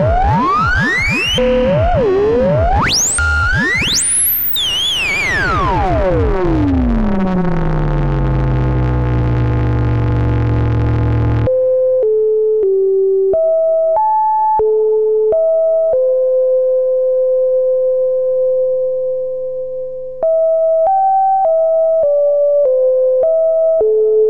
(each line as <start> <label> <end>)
0.0 modular analogue synth 11.5